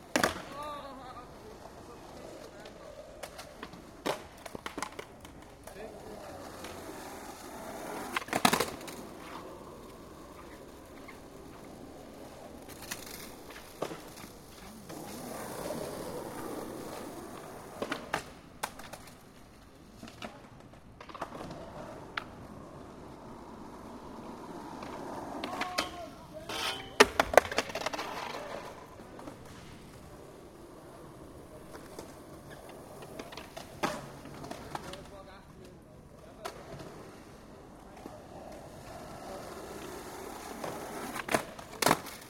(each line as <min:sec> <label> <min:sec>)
0:00.0 Skateboard 0:42.2
0:00.0 Skateboard crash 0:00.9
0:07.8 Skateboard crash 0:16.4
0:24.7 Skateboard crash 0:30.1
0:40.5 Skateboard crash 0:42.2